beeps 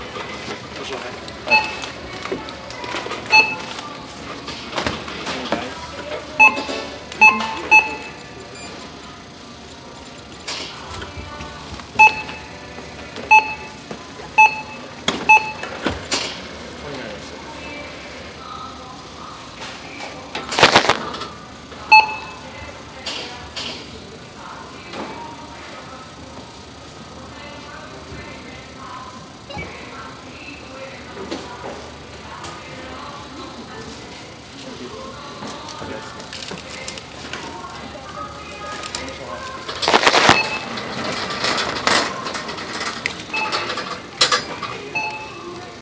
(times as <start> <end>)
1.5 1.9, 3.3 3.7, 6.4 8.9, 12.0 12.5, 13.3 13.8, 14.4 15.7, 21.9 22.5, 39.9 40.8, 45.0 45.4